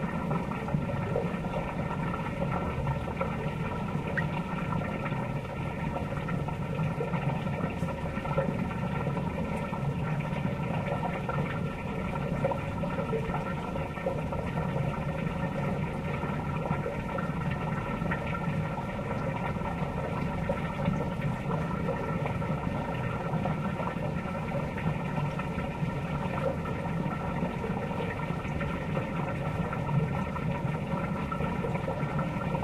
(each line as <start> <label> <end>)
0.0 water pump sewer water stream 32.6